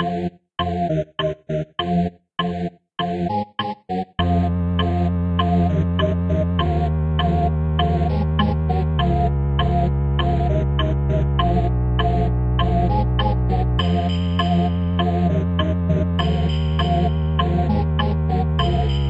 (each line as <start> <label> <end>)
0.0 music 19.0